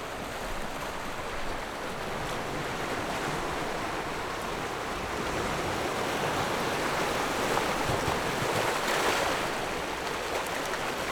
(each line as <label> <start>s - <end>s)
Waves and tides 0.0s - 11.1s